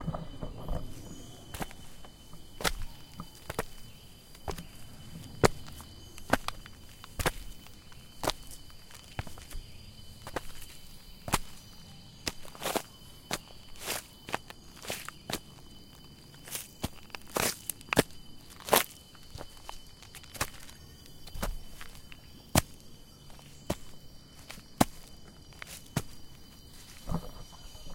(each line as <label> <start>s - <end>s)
Footsteps 0.0s - 15.6s